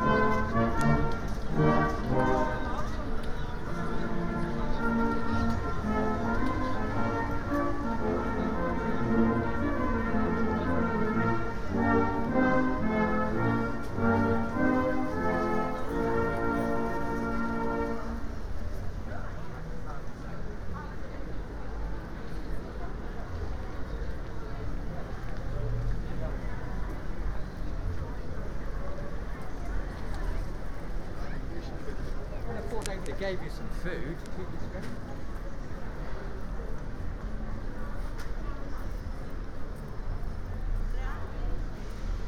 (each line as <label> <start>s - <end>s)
Salvation Army band 0.0s - 18.5s
steel pan orchestra 0.0s - 18.5s
buskers 0.0s - 42.2s
small PAs on pop-up stalls 0.0s - 42.2s